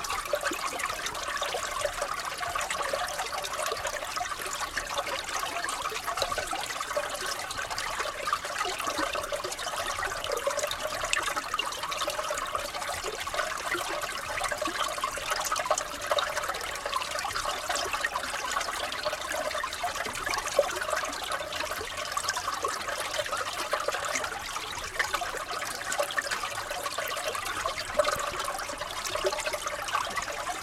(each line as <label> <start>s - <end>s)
Brook trickling in a frozen bed 0.0s - 30.6s